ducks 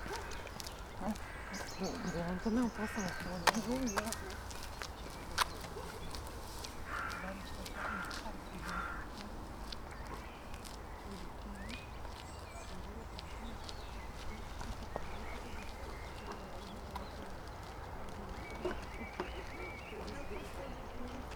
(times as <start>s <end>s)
6.9s 9.3s